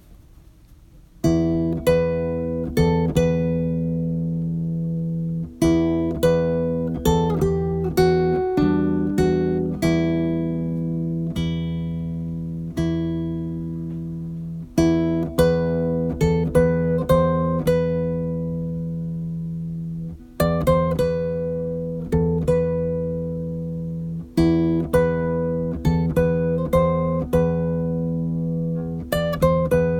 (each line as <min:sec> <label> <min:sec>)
0:01.2 Classical Guitar Riff 0:29.9